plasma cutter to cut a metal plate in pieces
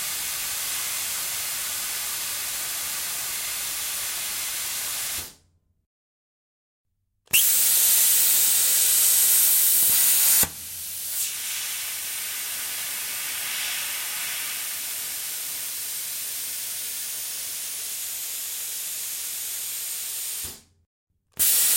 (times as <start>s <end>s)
7.3s 12.0s